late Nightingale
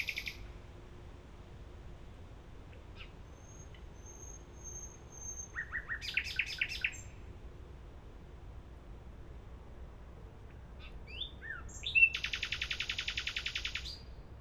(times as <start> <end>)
0.0 0.5, 3.0 7.2, 10.8 14.1